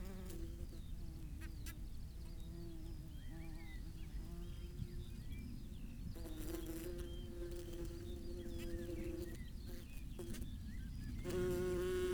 0.0s background noise 12.1s

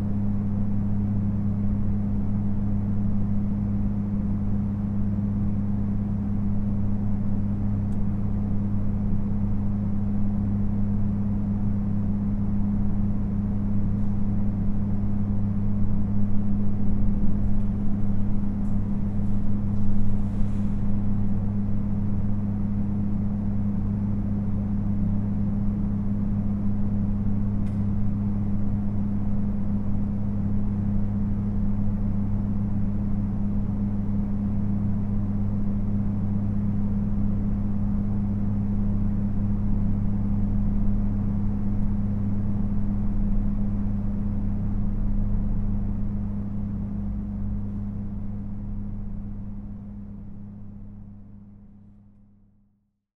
0.0s HVAC drones 52.2s

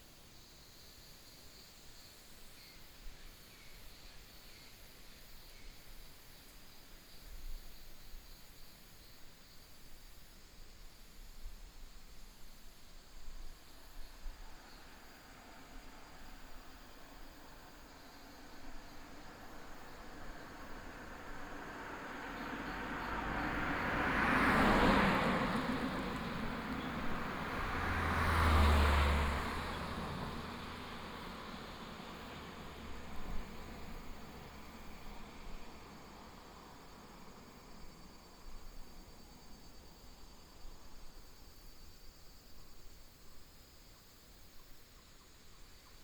0.0s wind 46.0s
14.4s traffic sound 40.5s

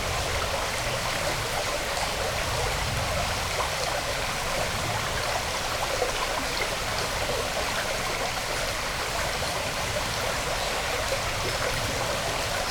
0.0s stream 12.7s

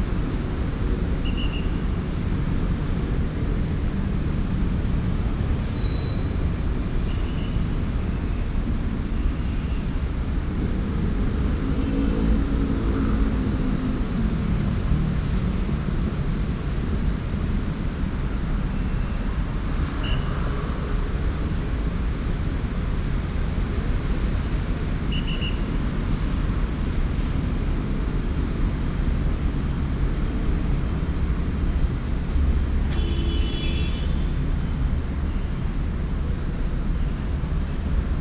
0.0s Traffic Sound 38.2s

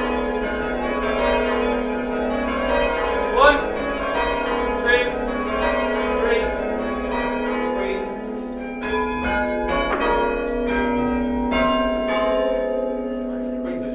0.0s ringing the bells down 13.9s

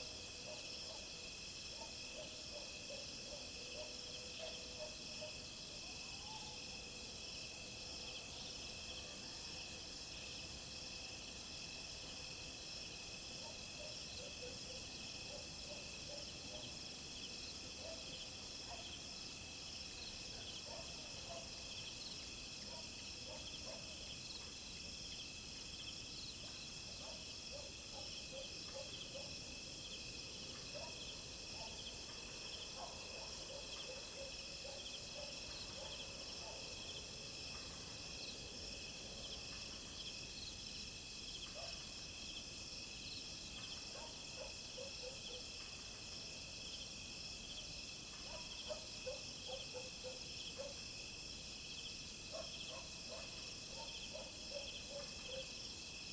0.1s Bugs 56.1s
1.8s Dog barking 5.4s
17.8s Dog barking 18.1s
18.7s Dog barking 19.0s
20.4s Dog barking 21.6s
22.7s Dog barking 24.0s
27.0s Dog barking 29.4s
30.7s Dog barking 31.0s
31.6s Dog barking 31.9s
32.8s Dog barking 36.8s
41.6s Dog barking 41.8s
43.9s Dog barking 45.4s
48.2s Dog barking 50.8s
52.3s Dog barking 55.6s

